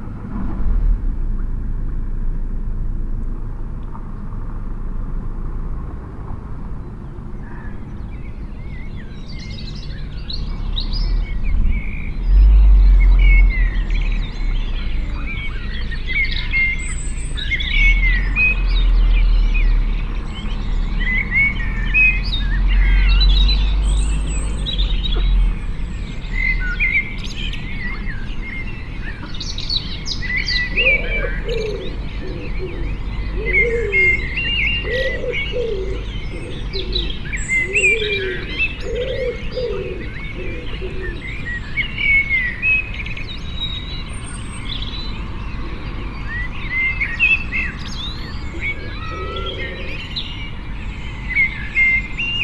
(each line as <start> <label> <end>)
30.5 cuckoo 41.4
48.2 cuckoo 50.2